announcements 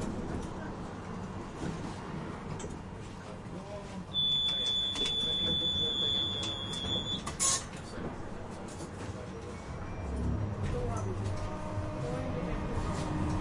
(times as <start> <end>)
4.1 7.3